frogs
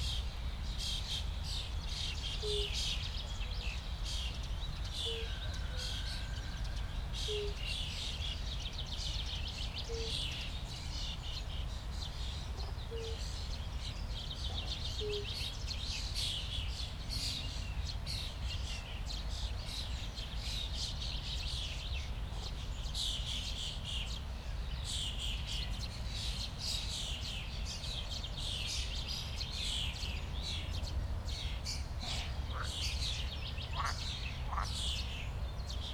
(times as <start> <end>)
32.0 34.9